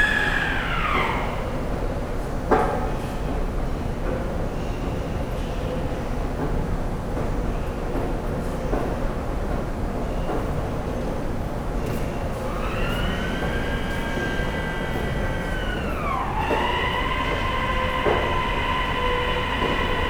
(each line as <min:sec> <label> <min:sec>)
0:00.0 heavy, glass sliding doors 0:01.7
0:12.0 heavy, glass sliding doors 0:20.0